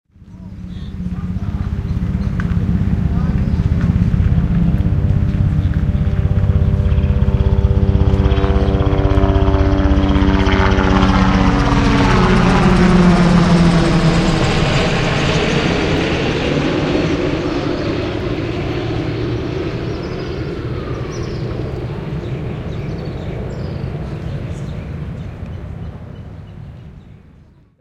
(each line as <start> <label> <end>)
0.1 helicopter flying overhead 27.8